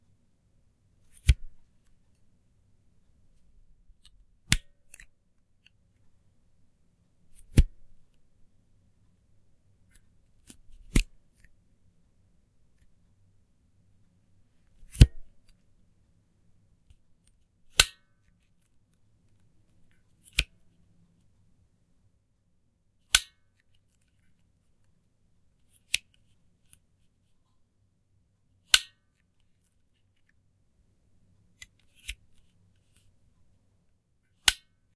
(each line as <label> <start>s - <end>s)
flashlight clicking on and off 10.4s - 11.5s
flashlight clicking on and off 23.1s - 23.4s
flashlight clicking on and off 28.7s - 29.0s
flashlight clicking on and off 34.4s - 34.7s